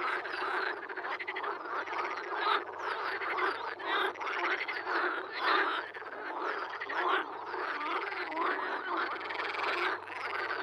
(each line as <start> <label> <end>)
0.0 frog concert 10.6